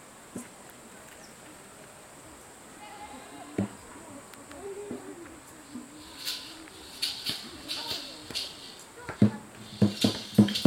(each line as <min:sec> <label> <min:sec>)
0:00.0 wind in the branches 0:10.6
0:02.8 music class in process 0:10.6